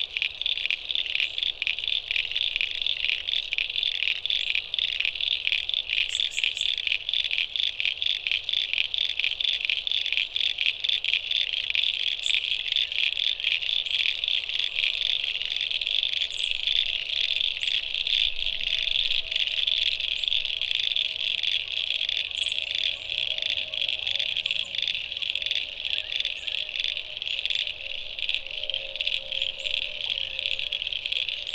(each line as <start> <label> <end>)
0.0 frogs go from quiet to deafening 31.5